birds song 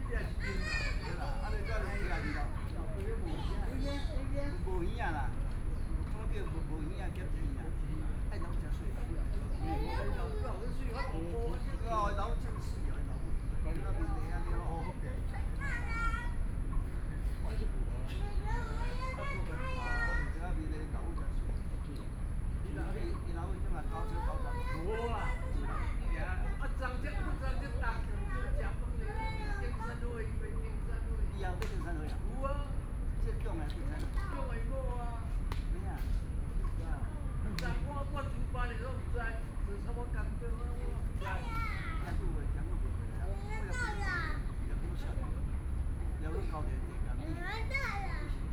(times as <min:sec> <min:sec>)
0:00.0 0:34.4